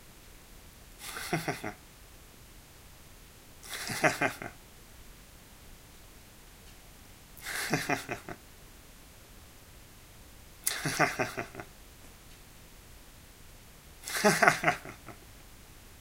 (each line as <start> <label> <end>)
1.0 laugh 1.8
3.6 laugh 4.6
7.4 laugh 8.4
10.6 laugh 11.7
14.0 laugh 15.2